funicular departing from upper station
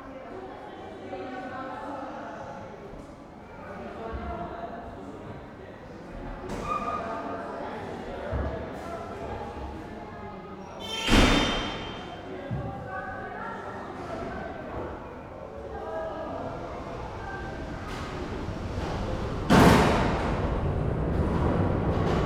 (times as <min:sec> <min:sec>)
0:15.1 0:22.2